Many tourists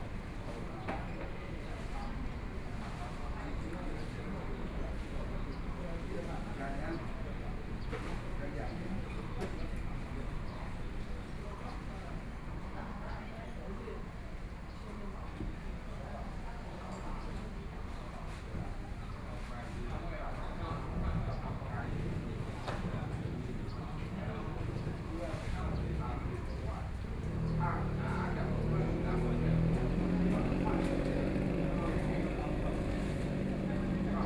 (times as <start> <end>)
19.8 34.2